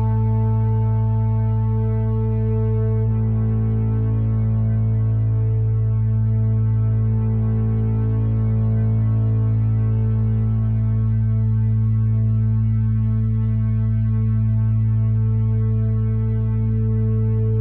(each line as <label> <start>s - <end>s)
drone 0.0s - 17.6s